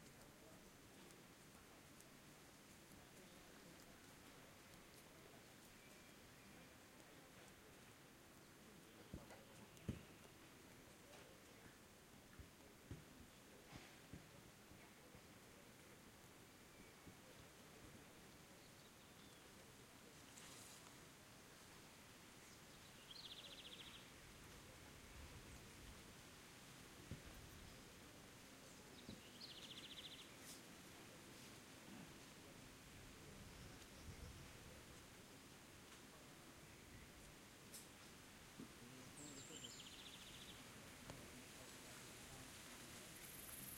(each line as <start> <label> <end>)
22.4 birds 24.2
27.2 birds 30.6
38.8 birds 43.7